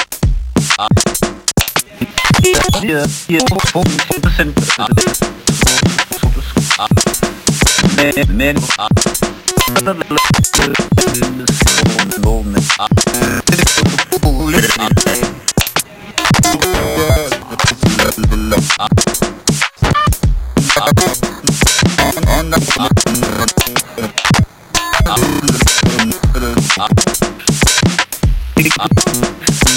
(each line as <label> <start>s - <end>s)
glitch 1.6s - 27.9s
glitch 28.6s - 29.7s